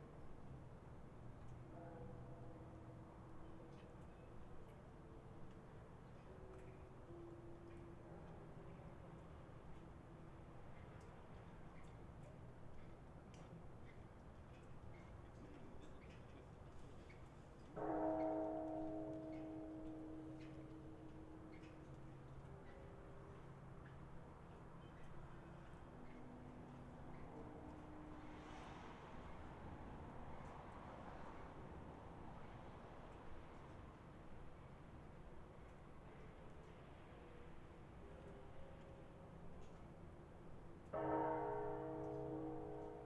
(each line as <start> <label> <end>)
17.8 temple bells 21.8
40.9 temple bells 43.0